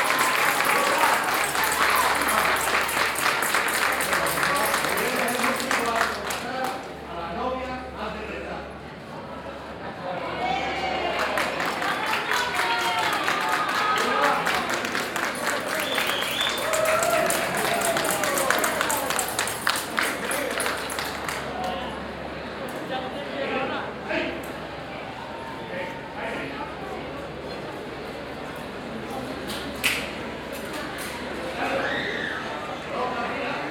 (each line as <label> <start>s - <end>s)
wedding crowd taking pictures and applaud 0.0s - 7.1s
wedding crowd taking pictures and applaud 10.4s - 23.0s